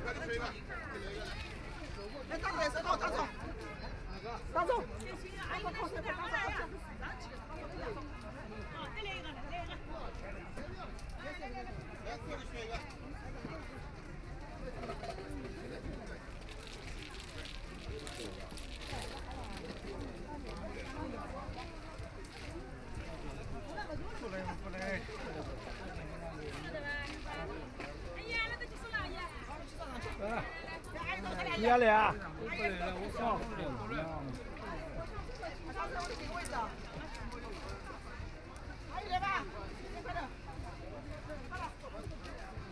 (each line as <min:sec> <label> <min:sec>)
0:00.0 elderly people gathered in an area to play mahjong 0:42.7